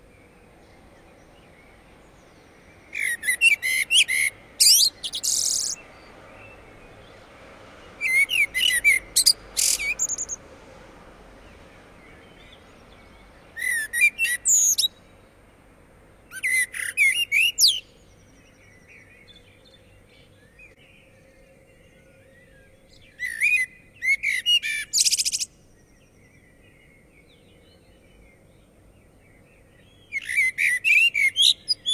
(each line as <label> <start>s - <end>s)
Blackbird singing 0.0s - 7.2s
traffic grumble 0.0s - 16.3s
other blackbirds building the background choir 0.0s - 31.9s
Blackbird singing 7.8s - 10.4s
Blackbird singing 11.4s - 15.2s
Blackbird singing 16.2s - 31.9s